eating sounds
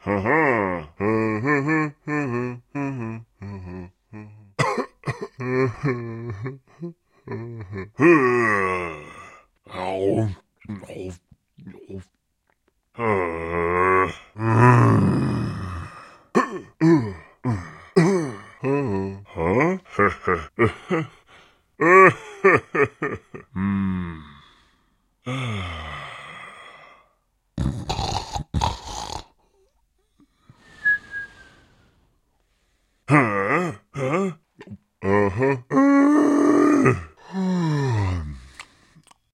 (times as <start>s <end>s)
38.5s 39.3s